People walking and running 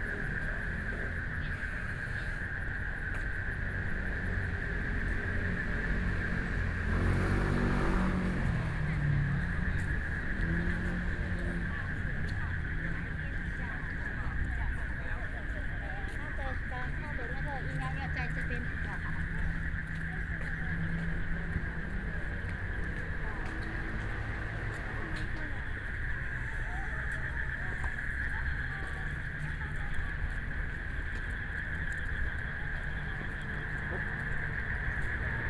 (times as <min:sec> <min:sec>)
0:08.6 0:35.4